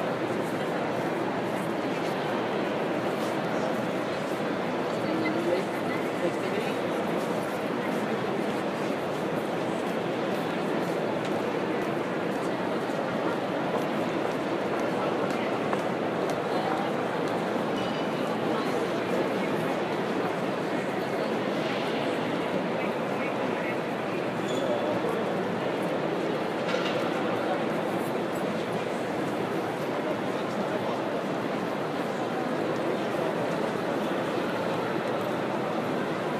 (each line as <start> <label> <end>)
0.0 many voices 36.3
0.0 train 36.3